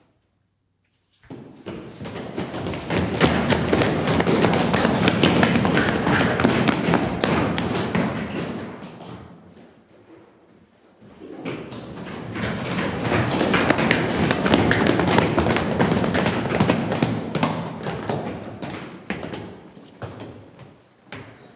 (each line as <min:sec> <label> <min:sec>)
0:02.0 Scattered running 0:08.0
0:11.8 Scattered running 0:19.3